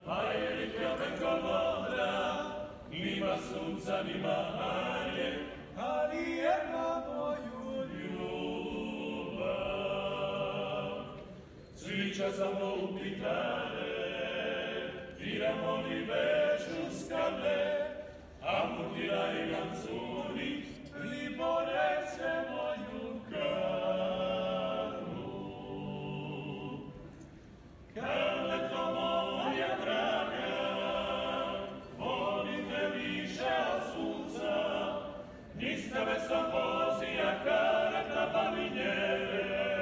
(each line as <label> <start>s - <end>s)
MEN SINGING 0.0s - 11.2s
MEN SINGING 11.8s - 26.9s
MEN SINGING 28.0s - 39.8s